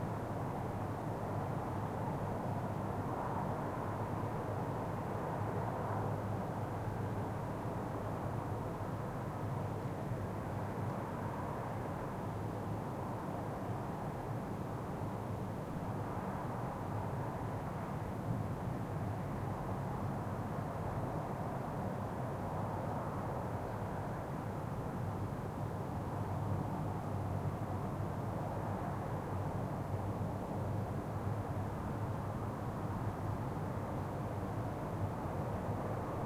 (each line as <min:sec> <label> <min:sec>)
0:00.0 wind 0:36.2